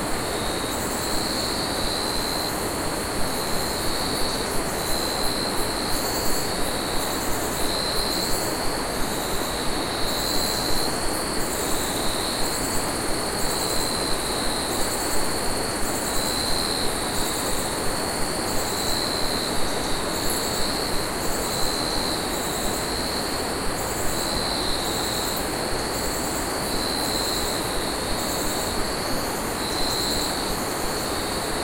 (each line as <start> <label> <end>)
0.0 Rivers 31.6
0.0 cicada 31.6
0.0 crickets 31.6